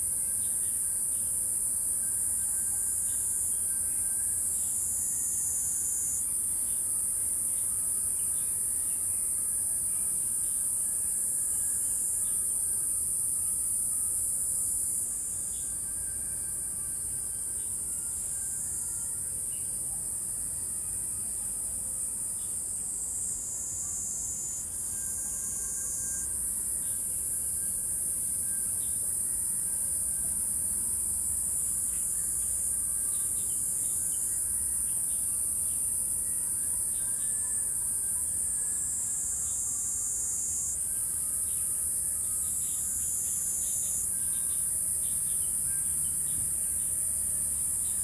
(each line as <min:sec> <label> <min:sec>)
0:00.0 insects 0:48.0